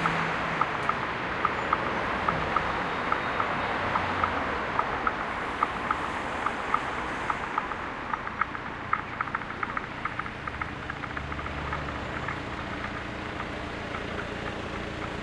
ticking of traffic lights 0:00.0 - 0:15.2
traffic 0:00.0 - 0:15.2
tramway 0:00.0 - 0:15.2

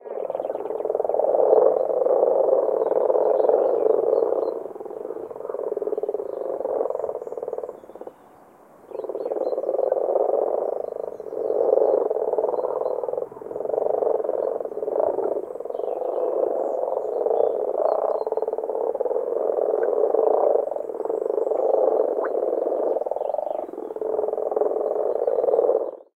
Frogs Croaking 0:00.0 - 0:26.1

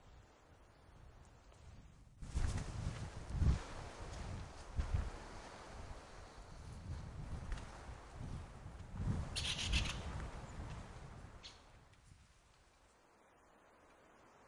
rave bird 0:09.3 - 0:10.1

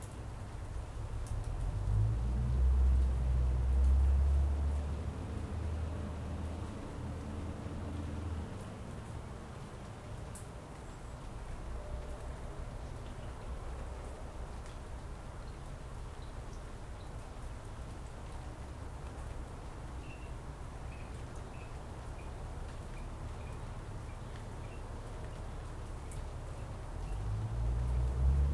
truck 0:01.1 - 0:08.5
truck 0:26.4 - 0:28.5

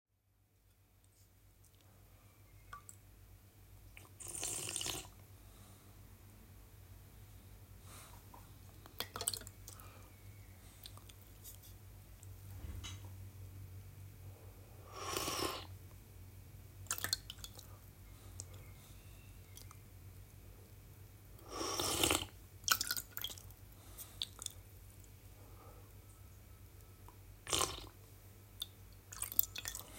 slurp water 0:04.0 - 0:05.2

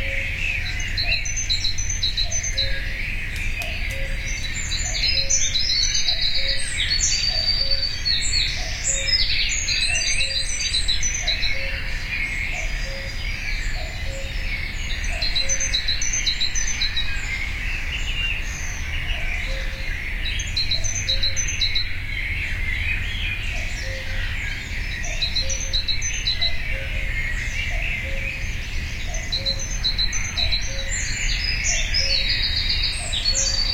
cuckoo 0:02.2 - 0:09.1
cuckoo 0:11.2 - 0:11.9

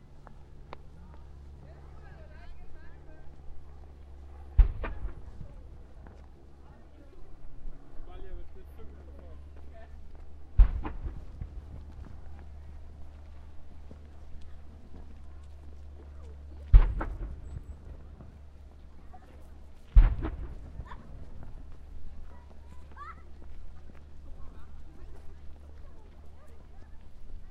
Cannon shots 0:04.6 - 0:05.7
Cannon shots 0:10.5 - 0:11.7
Cannon shots 0:16.7 - 0:18.0
Cannon shots 0:19.9 - 0:21.2

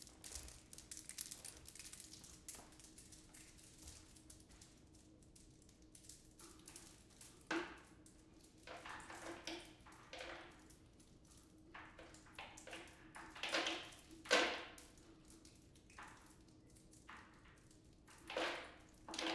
Cables Clinking 0:00.0 - 0:12.2

